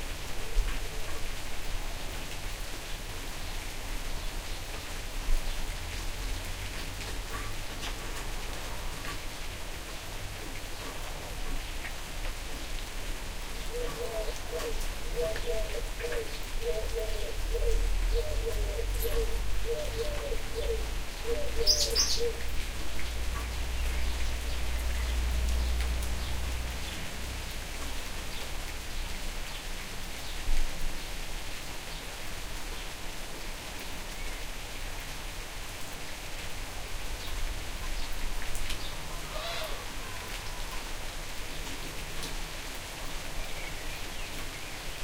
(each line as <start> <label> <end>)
0.0 Medium rain 45.0
13.6 birds 27.0